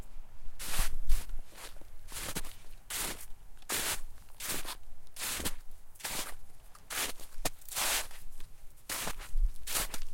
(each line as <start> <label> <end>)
0.6 walking in snow 10.1